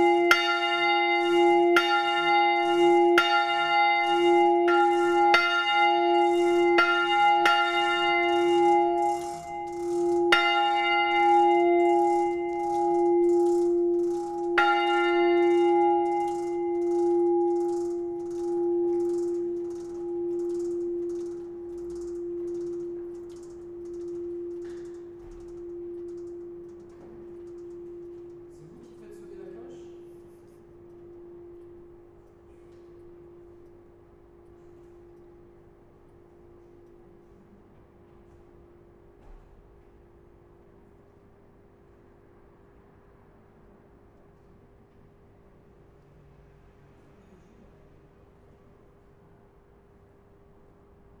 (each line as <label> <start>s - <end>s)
the bell in the street 0.0s - 39.4s
mechanism of the clockwork 0.0s - 51.2s